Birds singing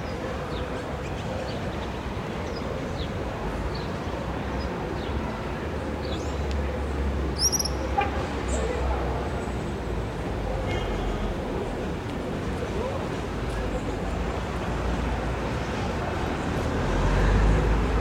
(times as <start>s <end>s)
7.4s 7.9s